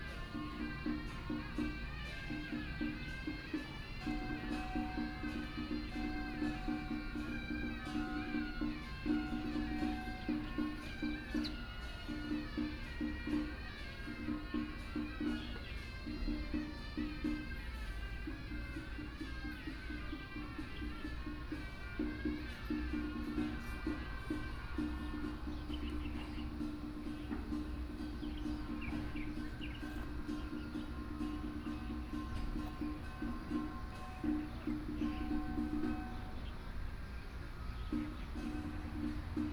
Birdsong sound 0:00.0 - 0:39.5
Funeral 0:00.0 - 0:39.5
Traffic Sound 0:00.0 - 0:39.5

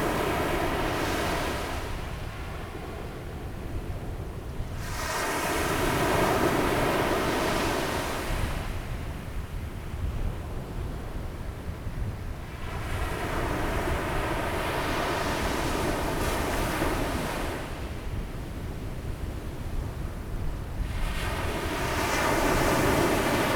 wind 0:00.0 - 0:23.5
waves 0:20.6 - 0:23.5

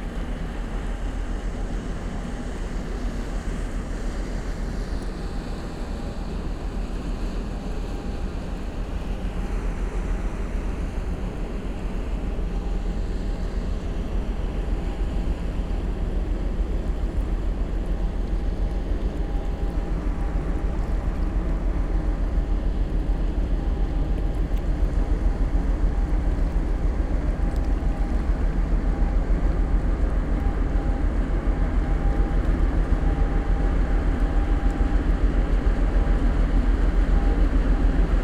cargo ship is moving upstream 0:00.0 - 0:38.2

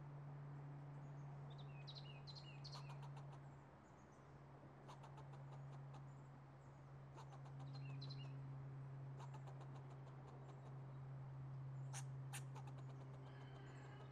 airplanes always passing above our heads 0:08.4 - 0:14.1
squirrel 0:09.2 - 0:10.8
squirrel 0:11.9 - 0:14.1
The Rooster 0:12.3 - 0:14.1

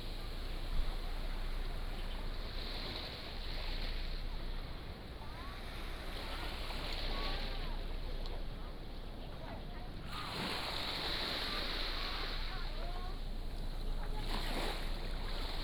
waves 0:00.0 - 0:15.6

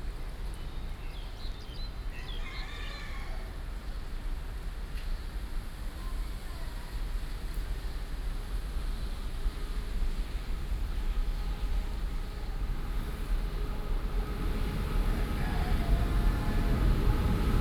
Train travel through 0:08.0 - 0:17.6

